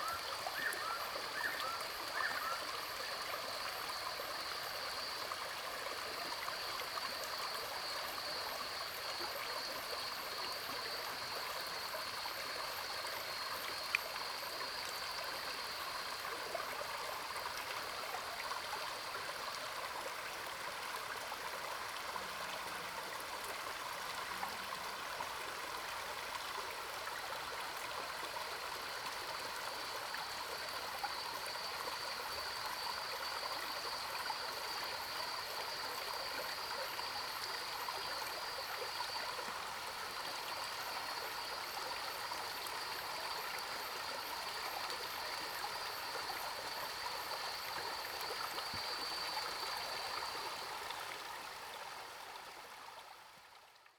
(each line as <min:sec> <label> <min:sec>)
0:00.0 Cicadas cries 0:05.3
0:29.6 Cicadas cries 0:50.7